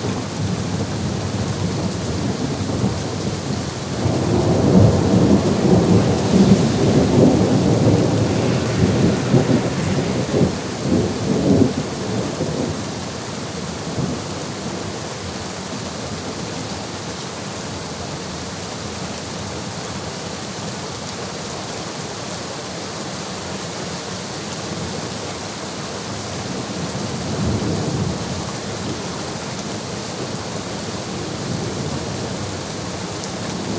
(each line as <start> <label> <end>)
0.0 Rain 33.7
1.7 thunder 13.1